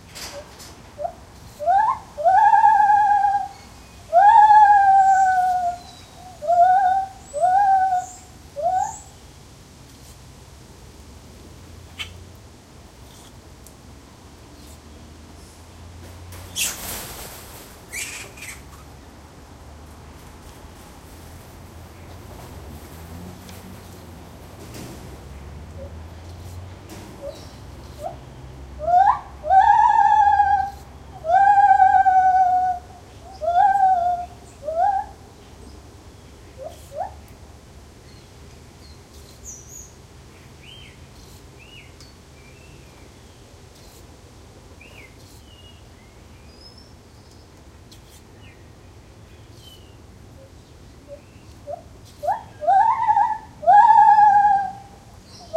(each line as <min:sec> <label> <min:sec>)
0:00.0 birds in the background 0:10.2
0:00.0 traffic 0:55.5
0:00.0 wind 0:55.5
0:01.0 single Lar Gibbon calling 0:09.1
0:11.7 birds in the background 0:55.5
0:11.9 single Lar Gibbon calling 0:12.2
0:14.5 movement from Long-tailed Macaques 0:28.2
0:17.9 single Lar Gibbon calling 0:18.8
0:28.8 single Lar Gibbon calling 0:35.1
0:51.1 single Lar Gibbon calling 0:55.5